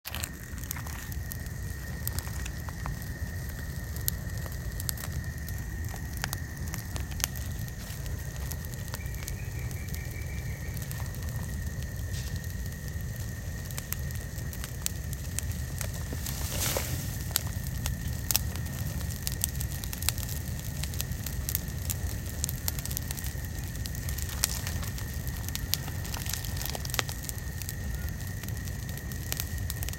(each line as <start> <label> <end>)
0.0 Crackle and flame sounds of mostly burning leaves 29.9
0.1 Insects 29.9
15.9 raking of leaves 17.3
16.0 footsteps on leaves 17.3